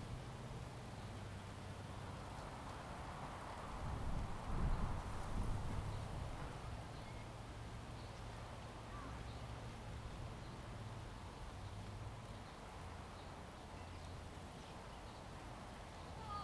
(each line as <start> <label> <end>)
0.0 wind 16.4